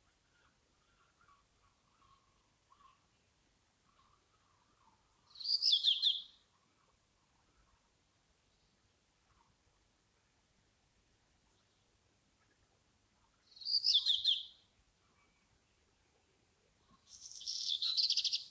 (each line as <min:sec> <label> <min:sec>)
0:00.0 birdsong 0:09.6
0:13.3 birdsong 0:18.5